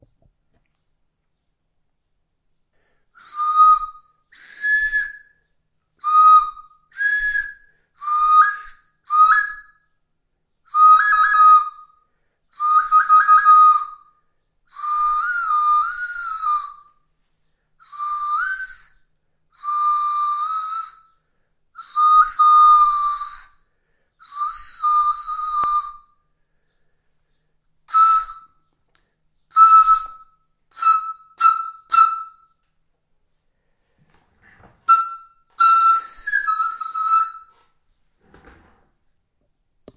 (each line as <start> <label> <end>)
3.2 nose whistle 9.9
10.7 nose whistle 14.1
14.7 nose whistle 17.0
17.8 nose whistle 26.2
27.9 nose whistle 28.7
29.4 nose whistle 32.5
34.8 nose whistle 37.8